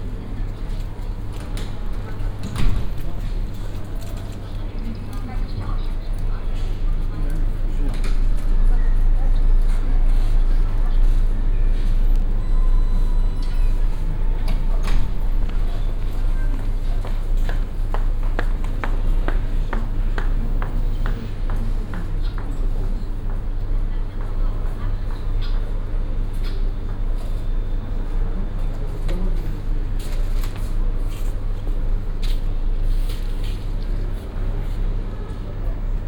people purchasing tickets 0.0 - 36.0
shopping center sounds coming from afar 0.0 - 36.0

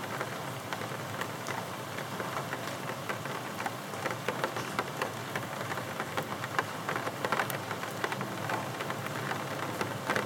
Gentle rain 0.0 - 10.2

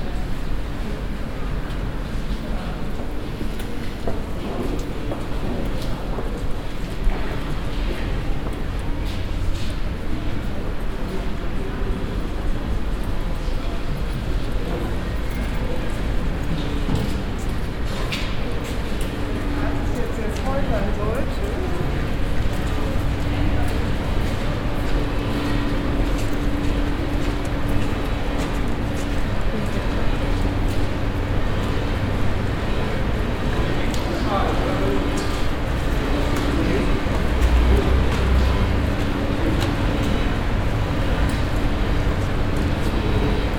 walk to the exit door 0.0 - 43.5

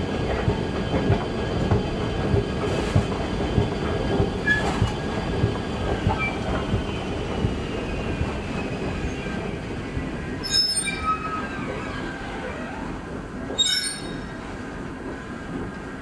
escalator from street level to the elevated tramway squeaks and groans 4.4 - 15.5

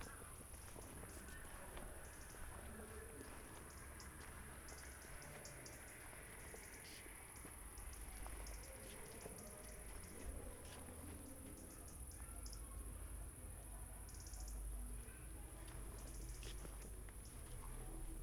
street walking 0.0 - 18.2

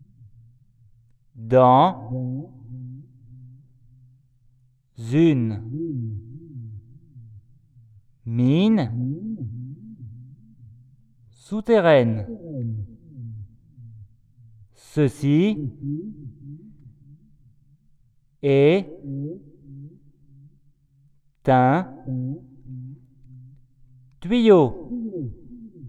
echo is loud 0.0 - 25.8
speak inside 0.1 - 9.7
speak inside 11.0 - 25.8

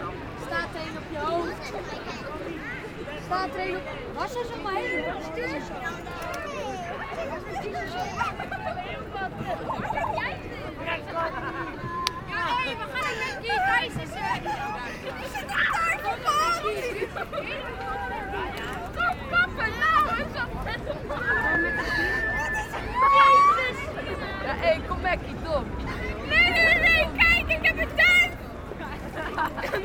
Tourists 0.0 - 29.8
teenagers shouting 12.2 - 24.5
teenagers shouting 26.0 - 28.5

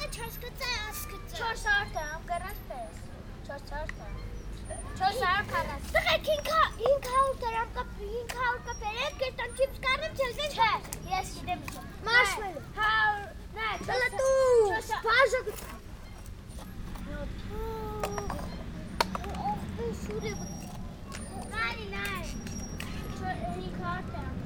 children went and played around us 0.0 - 24.4
playing football with an old plastic bottle 17.9 - 23.0

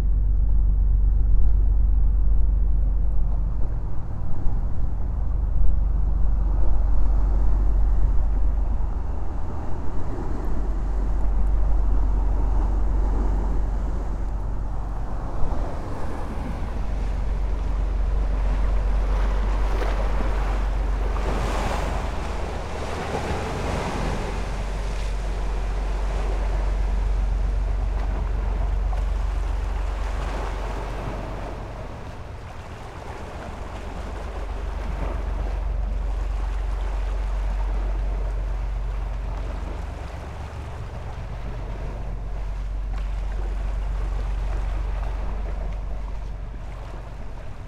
big boat is passing by quicly 0.0 - 47.6
big waves 2.9 - 47.6

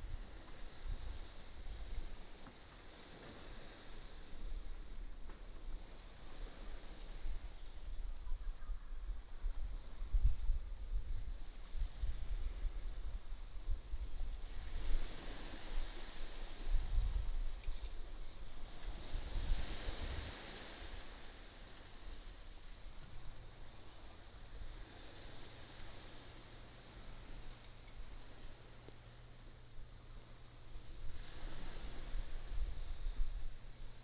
waves 0.0 - 34.0

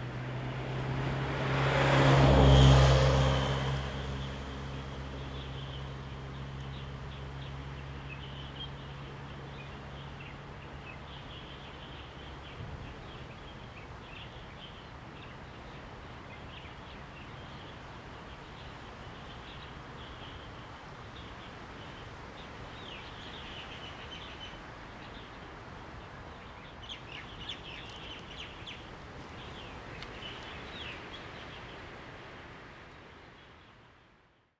Wind 0.0 - 34.5
Birds singing 26.2 - 31.7

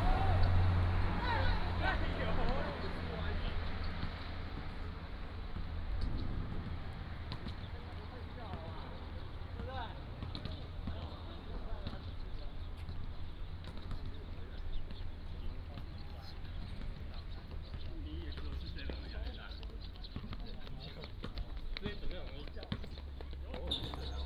soldiers are doing sports 0.0 - 24.2

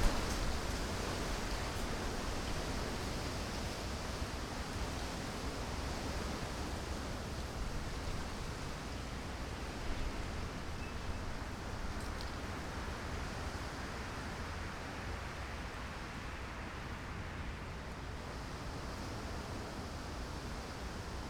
Wind 0.0 - 21.2

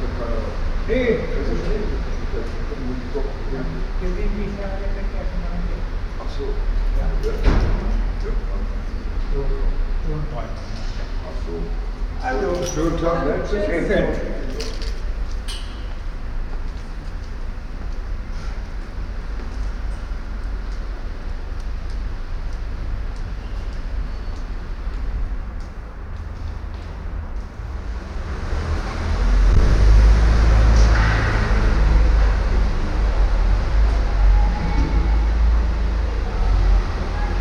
cars driving in and out 0.0 - 37.4

